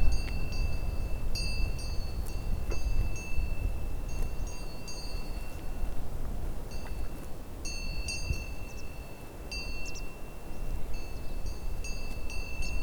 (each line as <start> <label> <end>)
0.0 cow bells 5.8
0.0 wind 12.8
7.7 cow bells 12.8